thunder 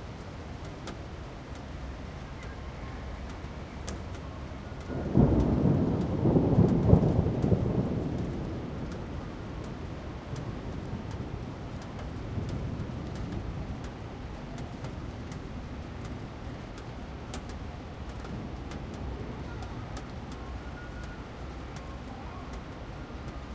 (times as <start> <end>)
4.9 13.8